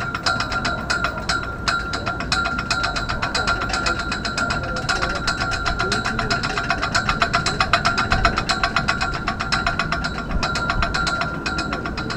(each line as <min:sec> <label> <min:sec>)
0:00.0 wind 0:12.1